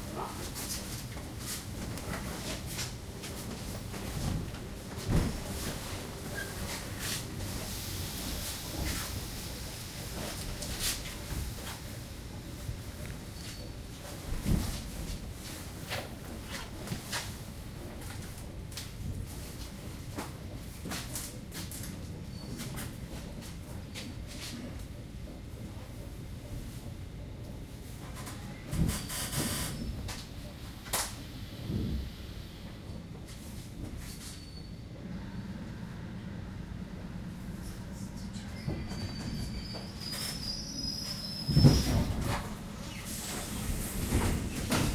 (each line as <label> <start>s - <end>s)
suburban train pulling into Belorusskiy station 0.0s - 44.9s